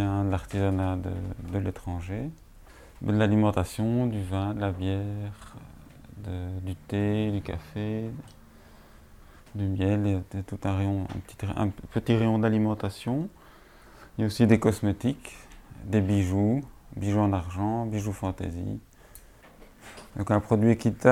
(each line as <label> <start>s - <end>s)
owner explains 3.0s - 8.4s
owner explains 9.5s - 13.4s
owner explains 14.2s - 18.9s
owner explains 20.1s - 21.1s